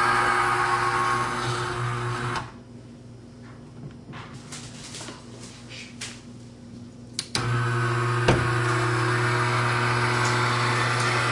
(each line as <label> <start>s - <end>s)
retractable, motorized stovetop ventilator 0.0s - 2.6s
retractable, motorized stovetop ventilator 7.2s - 11.3s